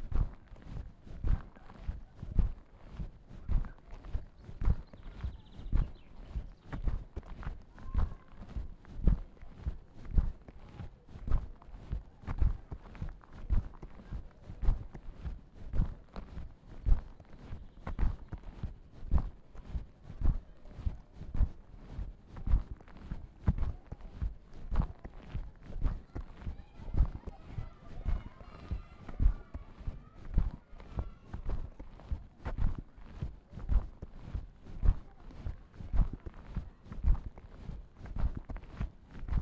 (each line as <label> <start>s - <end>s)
walking the bags 0.0s - 39.4s